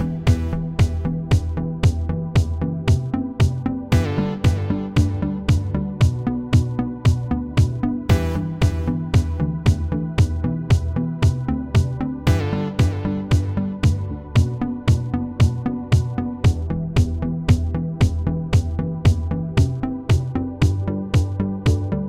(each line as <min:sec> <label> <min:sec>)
0:00.0 synth 0:22.0